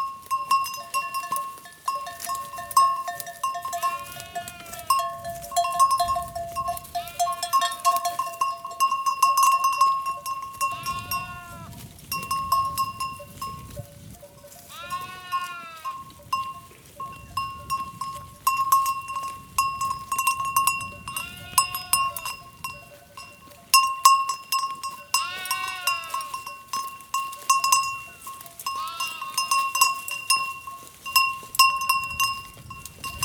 Sheeps herd 0.0 - 33.2

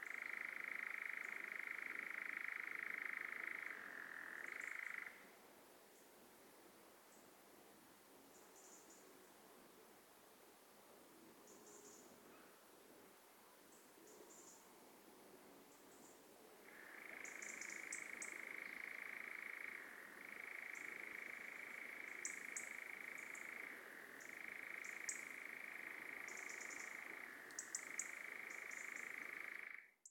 Solo insect 0.0 - 30.1

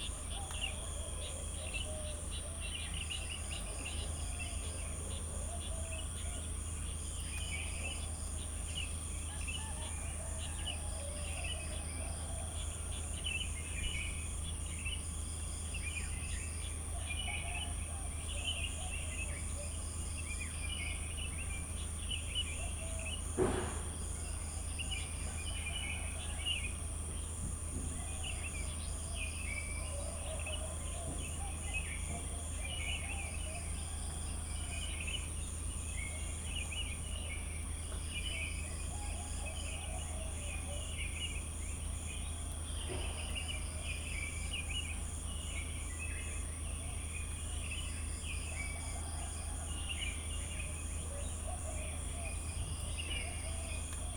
Crickets 0.0 - 54.1
birds 0.0 - 54.1
traffic going by in a distance 0.0 - 54.1

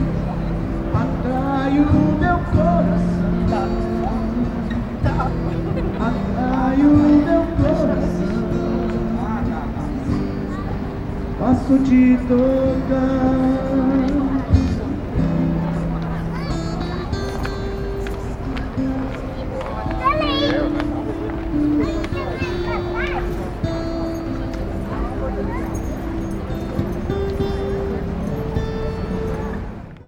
Street Musician 0.0 - 30.0
vehicles 0.0 - 30.0
voices 0.0 - 30.0

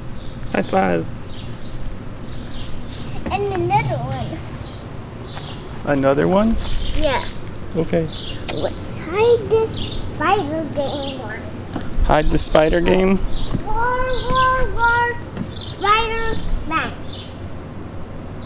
air conditioner 0.0 - 18.4
birds 0.0 - 18.4
sprinkler in backyard 5.7 - 11.4
dad & 2-1/2 year old girl playing hide & seek 8.0 - 17.0

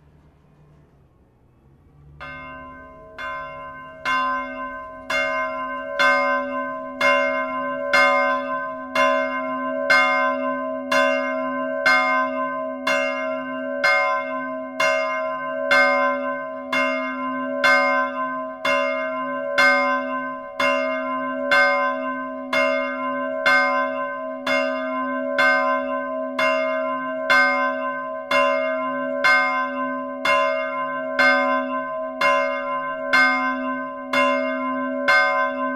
bell manually ringed in the tower 2.2 - 35.7

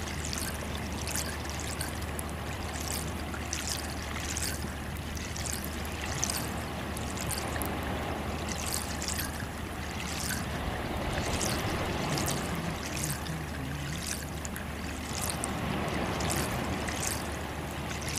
trickle of melt water in the pipe 0.0 - 18.1

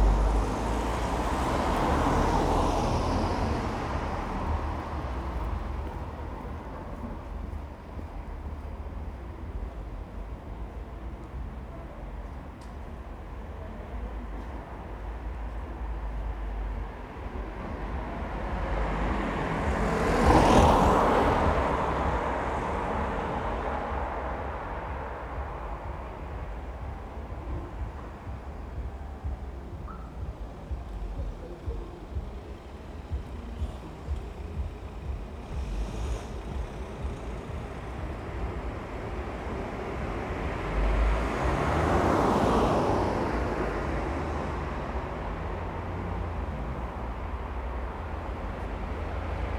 Louder traffic 0.0 - 49.5

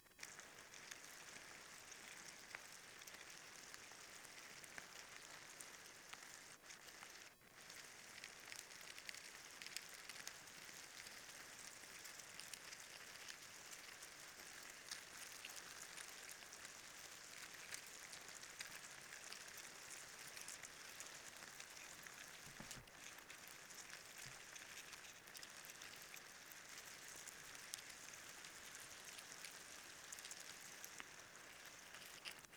awakened ants 0.0 - 32.5

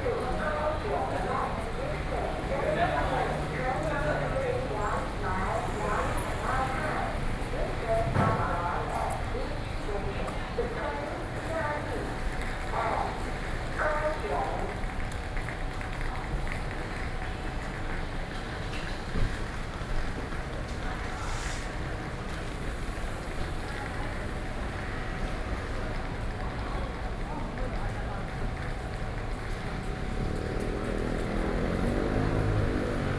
Construction noise 0.1 - 9.4
Construction noise 17.7 - 33.1

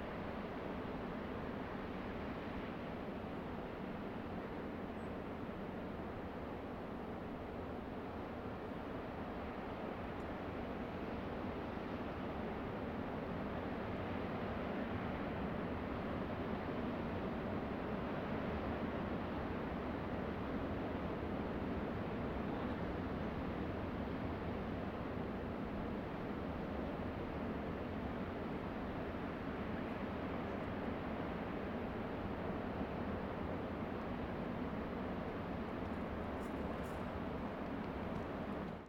LARGE OCEAN SHORE FAR 0.0 - 38.8

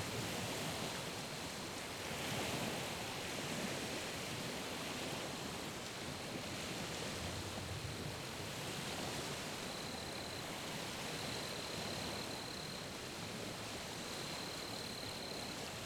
waves from the lake coming ashore 0.0 - 15.8

